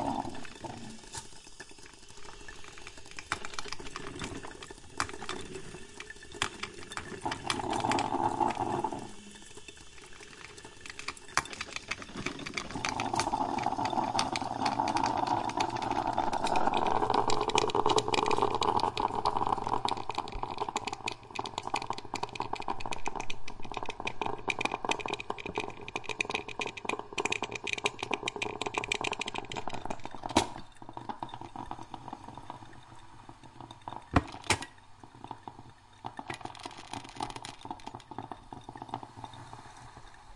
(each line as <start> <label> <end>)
0.0 gargling 1.4
0.0 steam 34.8
0.0 bubbling 40.3
7.2 gargling 9.5
12.5 gargling 26.8
35.8 steam 40.3